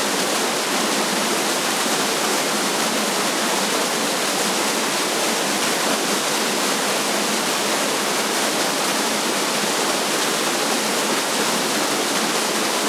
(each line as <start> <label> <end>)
0.0 Waterfall 12.8